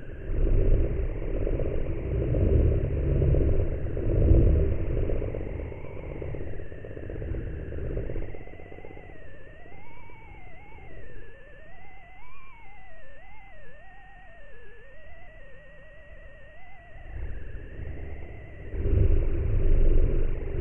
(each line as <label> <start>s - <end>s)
unkonwn transmission2 0.0s - 11.1s
unkonwn transmission2 16.8s - 20.6s